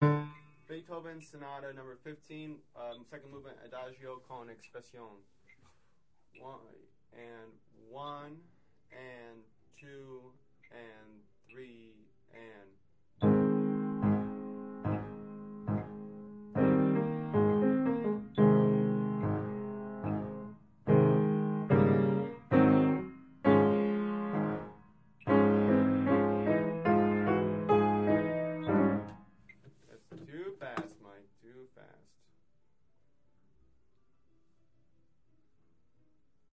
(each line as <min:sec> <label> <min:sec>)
0:00.0 Piano 0:00.7
0:13.2 Piano 0:29.4